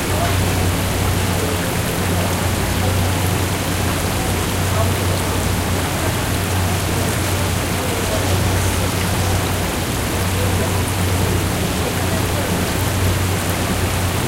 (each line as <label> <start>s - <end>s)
people talking in the background 0.0s - 14.2s